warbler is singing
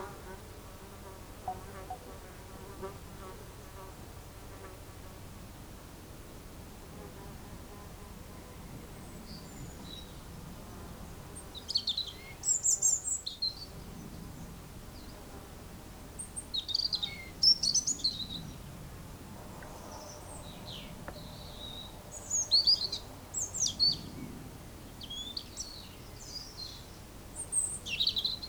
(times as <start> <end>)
11.5 13.8, 16.2 18.7, 19.8 24.2, 25.0 28.4